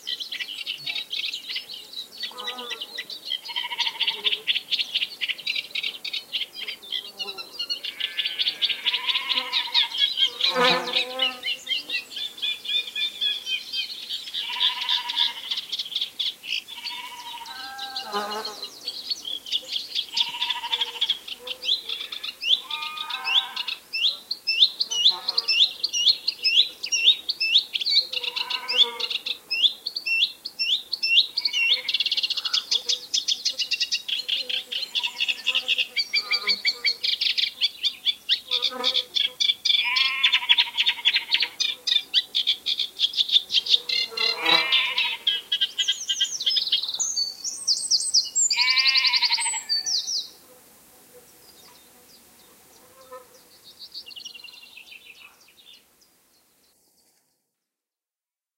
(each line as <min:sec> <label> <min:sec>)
0:00.0 Reed Warblers singing 0:50.3
0:21.9 sheep 0:23.7
0:39.8 sheep 0:41.6
0:48.6 sheep 0:49.9